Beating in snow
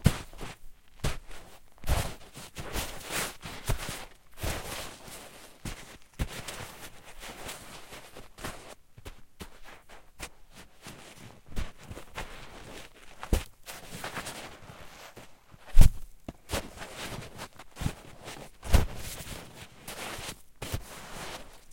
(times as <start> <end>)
11.7 21.7